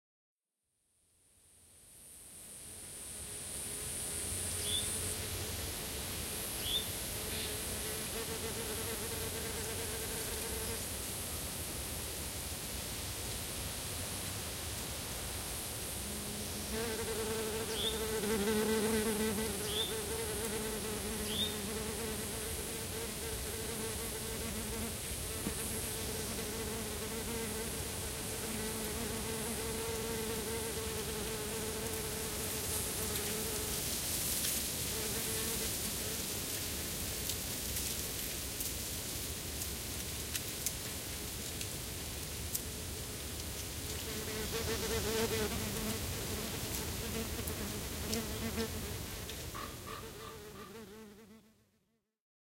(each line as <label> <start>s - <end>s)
wasp harassing the left and right spaced mics 15.9s - 33.8s
wasp harassing the left and right spaced mics 34.9s - 36.2s
wasp harassing the left and right spaced mics 44.0s - 51.3s